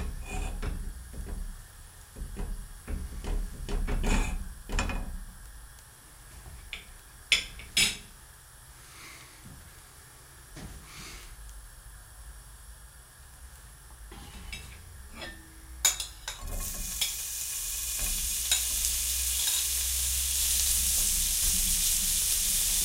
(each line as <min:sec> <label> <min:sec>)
0:00.0 sizzling 0:08.8
0:11.3 sizzling 0:22.8
0:14.1 pan (already hot with butter in it) is put on the stove 0:17.2
0:16.4 burning gas 0:22.8
0:17.9 pan (already hot with butter in it) is put on the stove 0:19.8